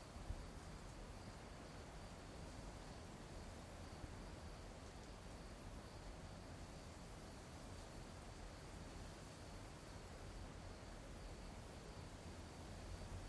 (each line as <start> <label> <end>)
0.0 insects 13.2